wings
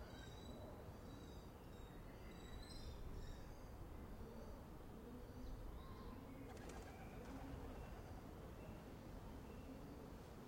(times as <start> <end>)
6.5 7.5